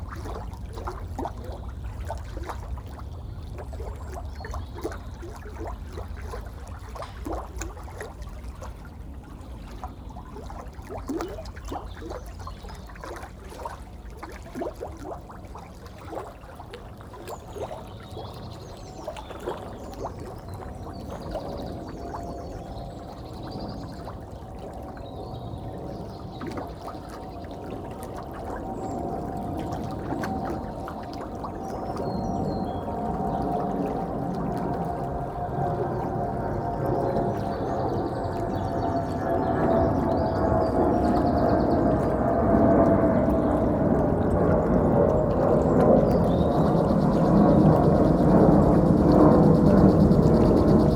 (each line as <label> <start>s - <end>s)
three planes 28.5s - 50.9s